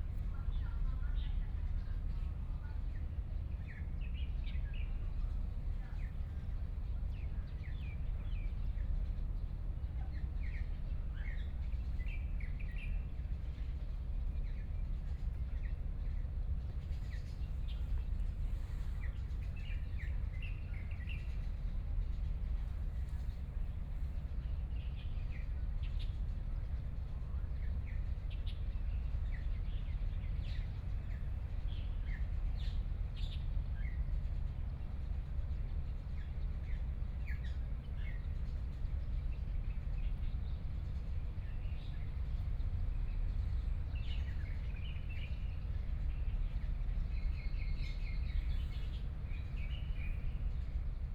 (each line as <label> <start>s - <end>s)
Birds singing 41.5s - 50.8s